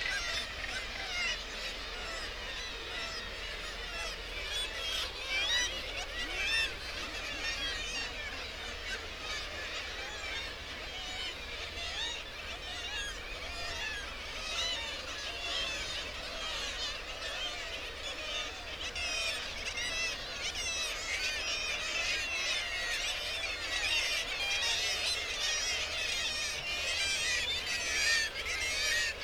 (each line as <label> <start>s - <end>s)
kittiwake calls and flight calls 0.0s - 29.2s